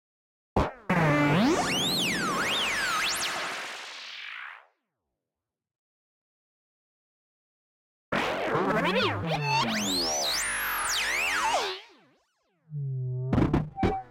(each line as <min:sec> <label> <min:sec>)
0:08.8 Synthesized alien / animal / robot / droid sounds 0:10.2